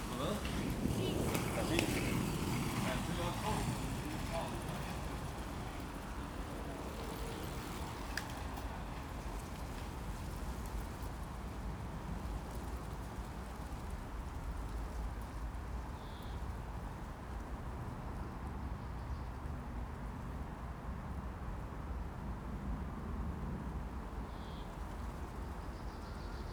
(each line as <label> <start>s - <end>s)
plane 0.0s - 10.7s
roller bladders 0.0s - 11.0s
scooters 0.0s - 11.6s
electric-car 0.0s - 15.0s
Passing cyclists 0.0s - 20.3s
constant background of traffic 0.0s - 26.5s